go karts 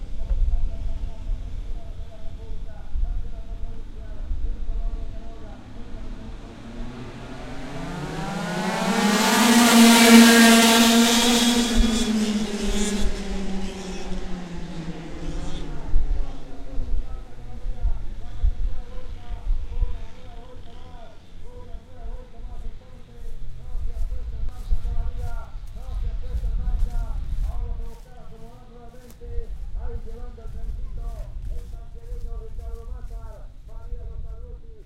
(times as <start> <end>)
0.0 25.8